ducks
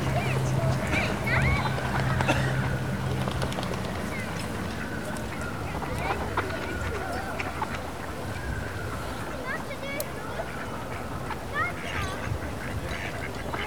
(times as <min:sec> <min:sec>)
0:10.3 0:13.6